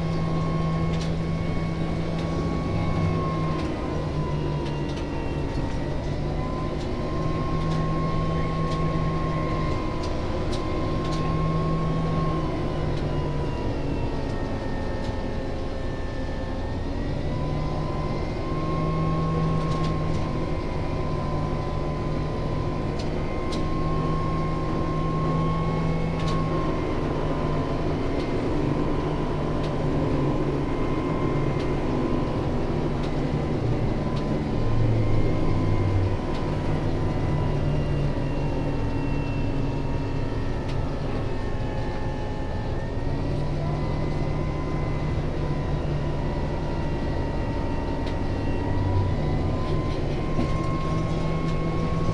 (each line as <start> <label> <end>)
48.8 trolleybus ride 52.1